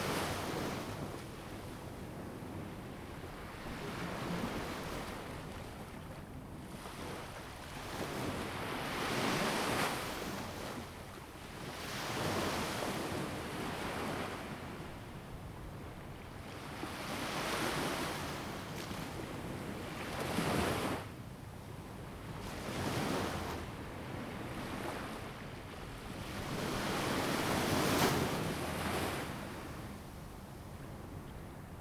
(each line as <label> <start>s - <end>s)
waves 22.3s - 31.8s